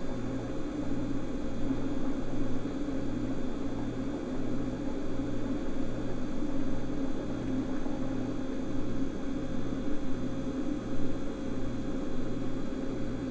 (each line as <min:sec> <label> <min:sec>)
0:00.0 Fluoresent Light Hum 0:13.3
0:00.0 office refrigerator 0:13.3